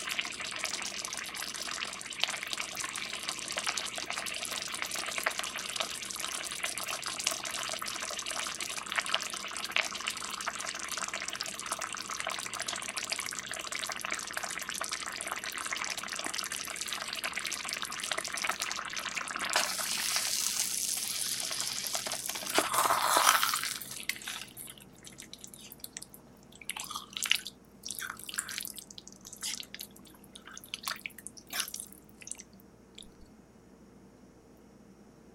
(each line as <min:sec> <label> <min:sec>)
0:00.0 simmering sauce on the stove 0:23.0
0:19.5 Stirring 0:33.1